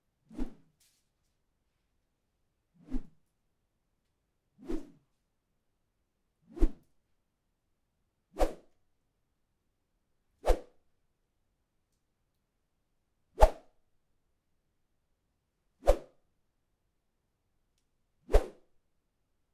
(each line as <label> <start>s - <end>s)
whoosh sound made by swinging a stick 0.3s - 0.6s
whoosh sound made by swinging a stick 2.8s - 3.2s
whoosh sound made by swinging a stick 4.6s - 5.0s
whoosh sound made by swinging a stick 6.5s - 6.8s
whoosh sound made by swinging a stick 8.4s - 8.6s
whoosh sound made by swinging a stick 10.4s - 10.6s
whoosh sound made by swinging a stick 13.4s - 13.6s
whoosh sound made by swinging a stick 15.8s - 16.1s
whoosh sound made by swinging a stick 18.3s - 18.6s